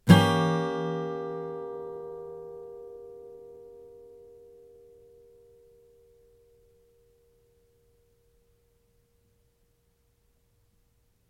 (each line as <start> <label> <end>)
0.0 Chords strummed with a metal pick 7.8